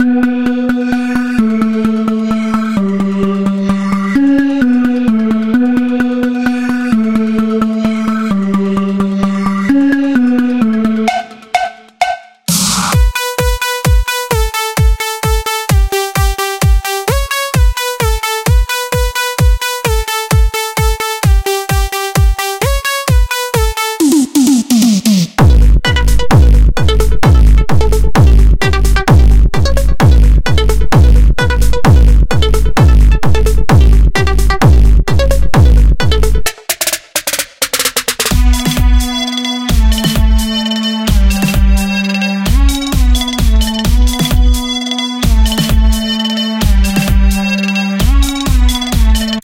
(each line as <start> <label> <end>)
0.0 New Step Music 49.4